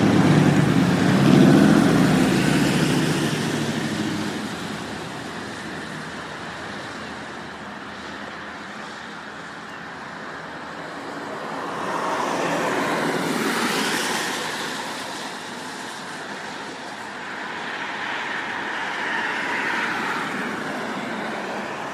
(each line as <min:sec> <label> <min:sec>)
0:00.0 Road Noise 0:21.9